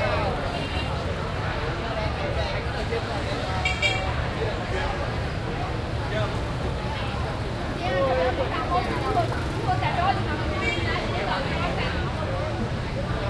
many people talking 0.0 - 13.2
traffic passing by 0.0 - 13.2

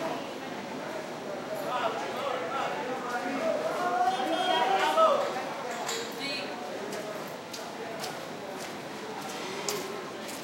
bandsaw heard frequently, resonating off buildings 6.8 - 10.4

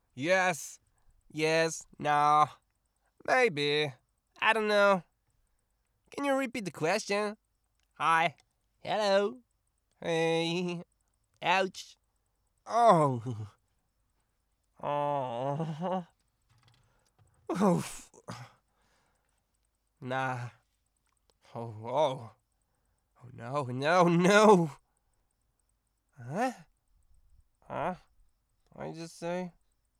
generic voice lines 0.2 - 2.6
generic voice lines 10.0 - 12.0
generic voice lines 23.2 - 24.8
generic voice lines 28.7 - 29.6

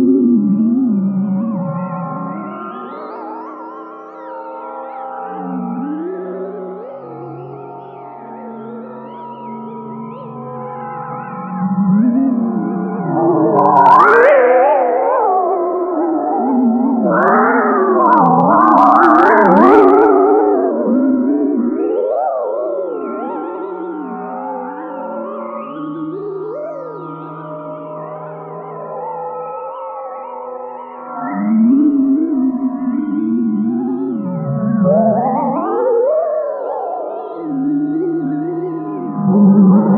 drone 9.4 - 29.0
drone 31.1 - 39.9

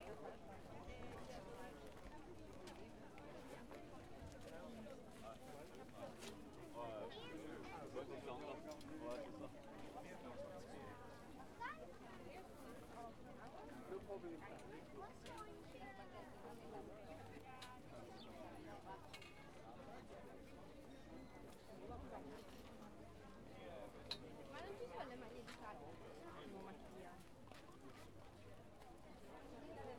chatter 0.0 - 29.9

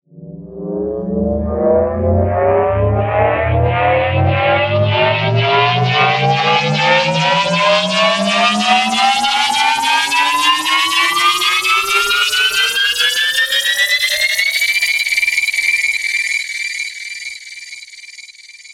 Dissonant Alien Riser/Powerup 0.2 - 14.1

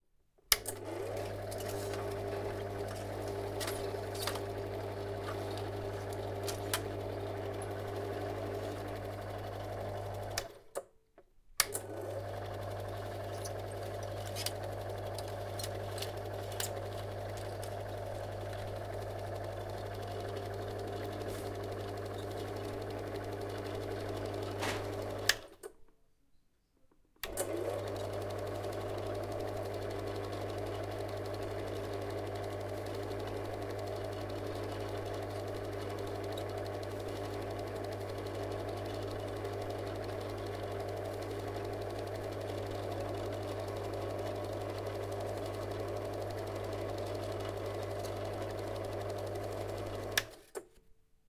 Switch on and switch off Super8 Meopta projector 0.5 - 10.9
Switch on and switch off Super8 Meopta projector 11.6 - 25.8
Switch on and switch off Super8 Meopta projector 27.2 - 50.7

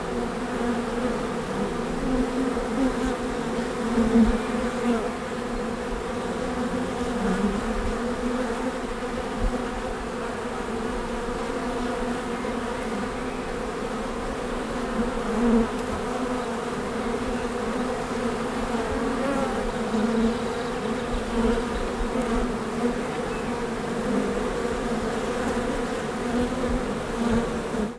swarm of bees 0.0 - 27.9
birds in the background 12.2 - 13.9
birds in the background 19.7 - 22.2
birds in the background 23.0 - 23.8

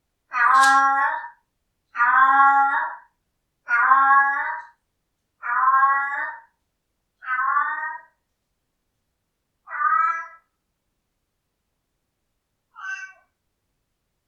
Siamese Cat Yowls 0.3 - 1.4
Siamese Cat Yowls 2.0 - 3.1
Siamese Cat Yowls 3.7 - 4.8
Siamese Cat Yowls 5.4 - 6.5
Siamese Cat Yowls 7.2 - 8.2
Siamese Cat Yowls 9.7 - 10.5
Siamese Cat Yowls 12.7 - 13.3

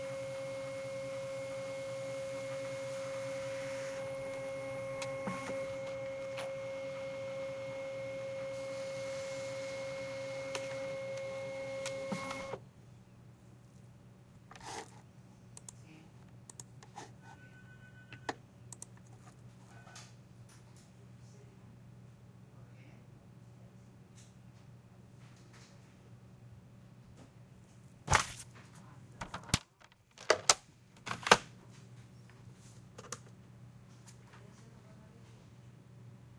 computers 0.0 - 12.6
faxes 0.0 - 12.6
photocopiers 0.0 - 12.6

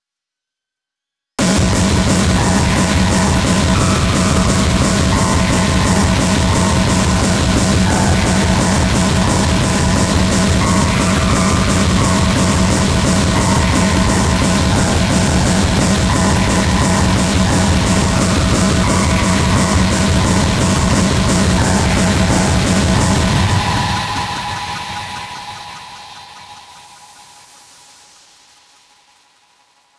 Snare Drum 1.4 - 23.5
Bass Drum 1.4 - 23.7

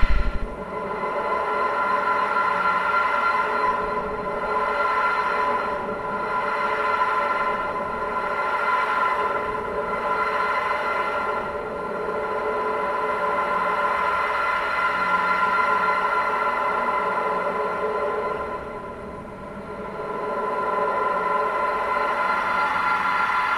drone 0.0 - 23.5

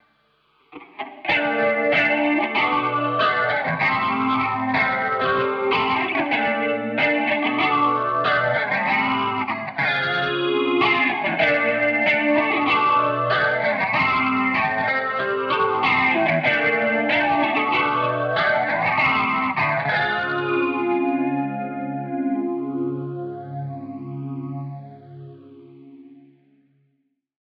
Shoegaze Guitar 190bpm Riff2 0.0 - 26.4

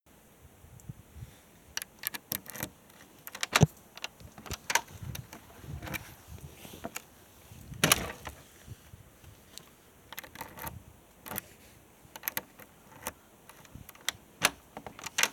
key 1.8 - 6.1
key 9.5 - 11.5
key 12.1 - 15.3

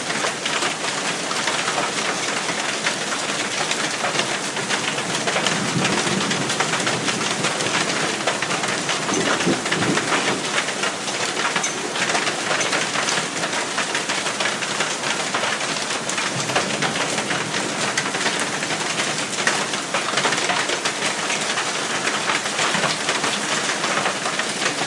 rain 0.0 - 24.8
wind 0.0 - 24.8
hail 0.0 - 24.8
thunder 5.4 - 10.5

